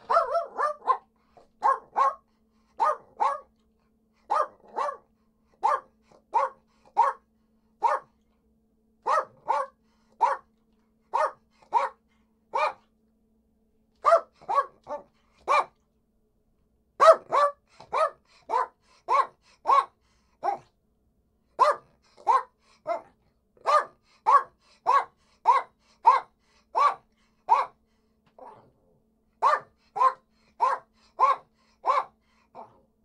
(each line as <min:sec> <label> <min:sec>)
0:00.0 dog-barking 0:03.5
0:04.2 dog-barking 0:08.2
0:09.0 dog-barking 0:10.5
0:11.1 dog-barking 0:12.9
0:14.0 dog-barking 0:15.8
0:17.0 dog-barking 0:20.7
0:21.6 dog-barking 0:27.8
0:28.4 dog-barking 0:28.7
0:29.4 dog-barking 0:32.8